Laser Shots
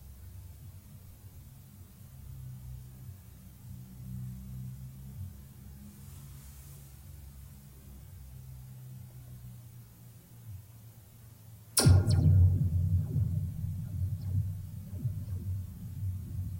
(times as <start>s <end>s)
11.8s 16.5s